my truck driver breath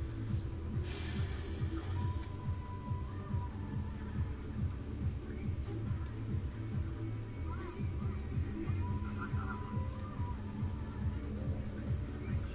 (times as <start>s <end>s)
0.8s 2.2s